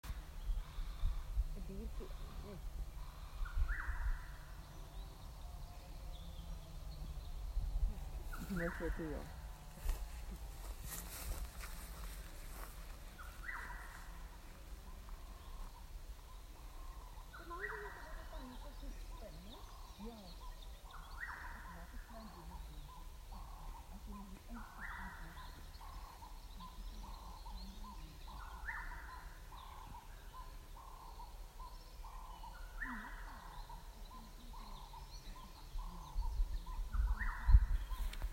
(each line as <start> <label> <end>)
0.0 Pine forest birds 38.3